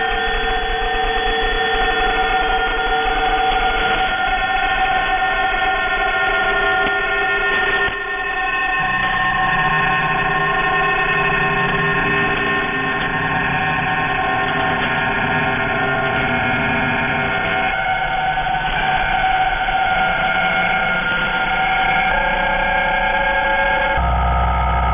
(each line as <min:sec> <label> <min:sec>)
0:24.0 mishmash heterodyning sound 0:24.9